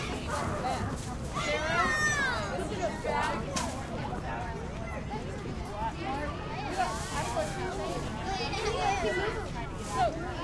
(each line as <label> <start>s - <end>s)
kids playing 0.0s - 4.2s
parents chatting 0.0s - 10.4s
kids playing 4.8s - 10.4s